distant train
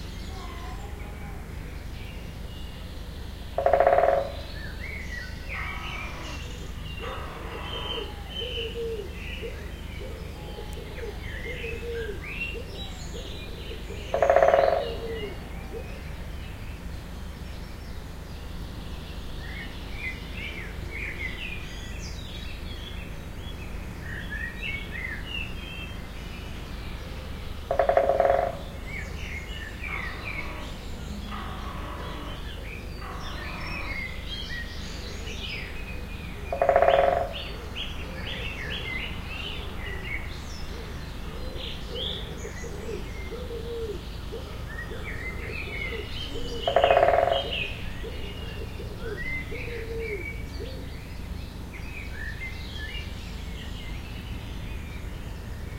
26.0s 38.2s

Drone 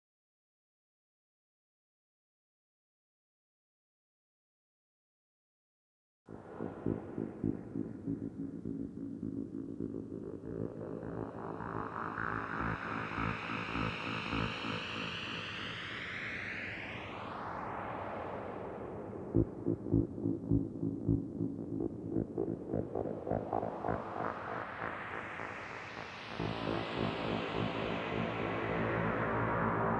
6.3s 29.9s

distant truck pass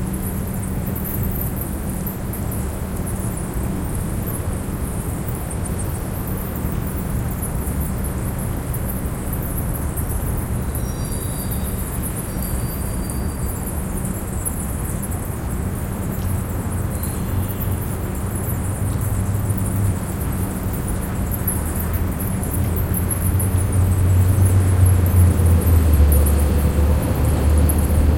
21.2s 28.1s

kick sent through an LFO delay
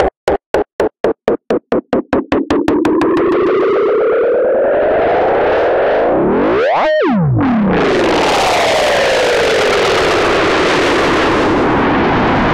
0.0s 3.5s

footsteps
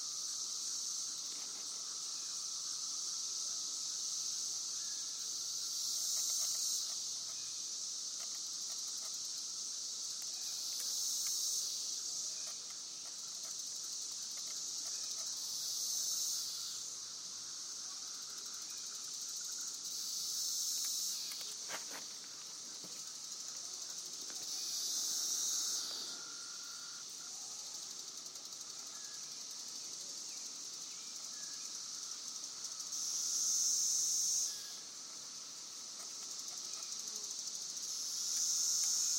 21.3s 23.1s

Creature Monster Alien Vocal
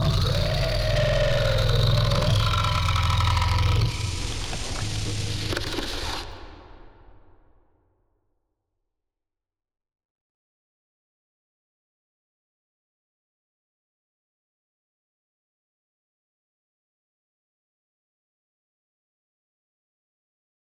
0.0s 6.4s

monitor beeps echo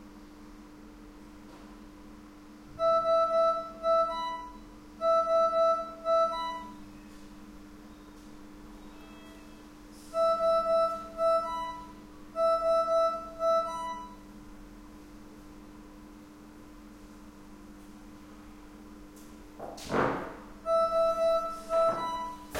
2.8s 6.8s, 10.2s 14.2s, 20.7s 22.5s

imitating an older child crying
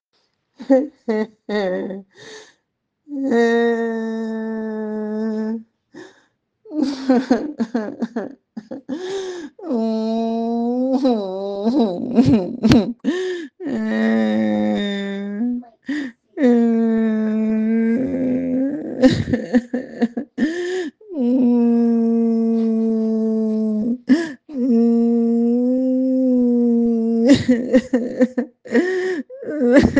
9.6s 29.9s

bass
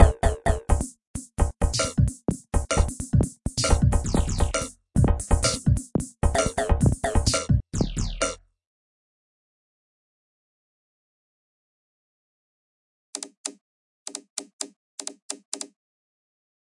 0.0s 8.6s

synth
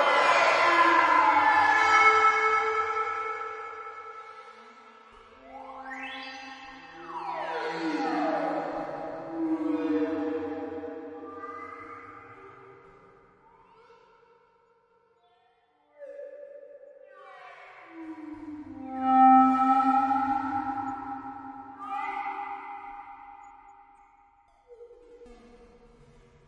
5.2s 12.4s, 17.9s 23.7s

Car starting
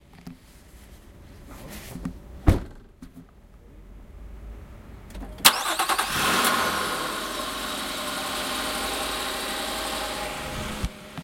5.1s 11.2s

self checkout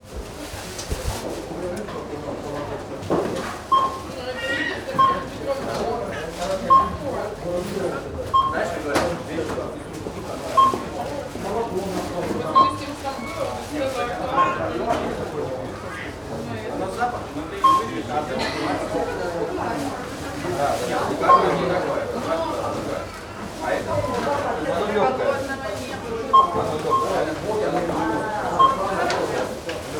3.6s 4.2s, 5.0s 5.8s, 6.5s 7.2s, 8.3s 8.8s, 10.4s 11.4s, 12.5s 13.5s, 17.5s 18.2s, 26.2s 29.6s

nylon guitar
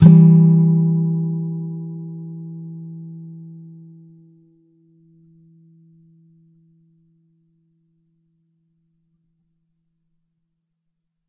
0.0s 7.4s

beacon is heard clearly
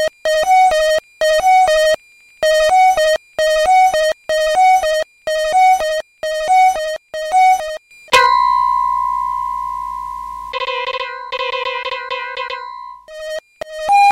8.1s 13.1s

